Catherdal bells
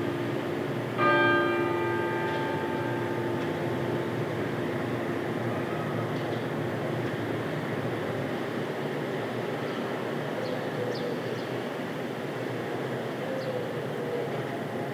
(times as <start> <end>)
1.0 6.9